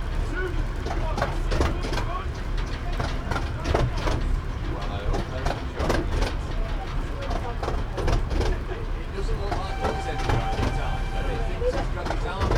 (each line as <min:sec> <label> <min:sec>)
0:00.0 Train ride 0:12.5